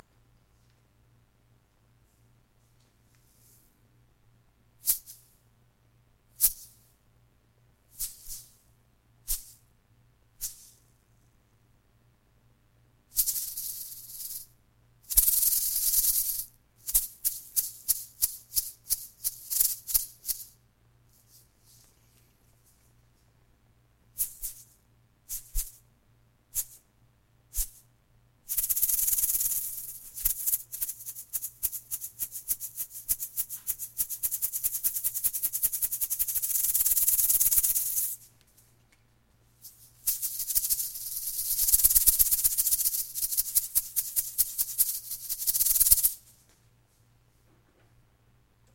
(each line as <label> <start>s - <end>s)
seeded poppy pods shaken at various rates 13.1s - 14.5s
seeded poppy pods shaken at various rates 15.1s - 21.9s
seeded poppy pods shaken at various rates 24.2s - 25.8s
seeded poppy pods shaken at various rates 26.5s - 26.8s
seeded poppy pods shaken at various rates 27.5s - 27.9s
seeded poppy pods shaken at various rates 28.5s - 38.3s
seeded poppy pods shaken at various rates 39.6s - 46.4s